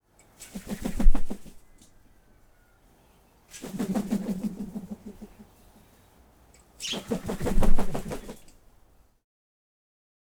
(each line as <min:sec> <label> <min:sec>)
0:00.4 Swoop Wing Flap 0:01.6
0:03.5 Swoop Wing Flap 0:05.4
0:06.8 Swoop Wing Flap 0:08.6